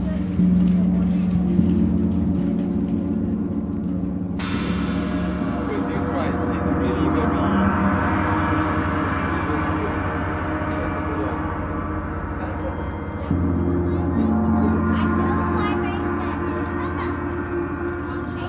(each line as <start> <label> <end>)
0.0 Gong 18.4
0.0 chatter 18.4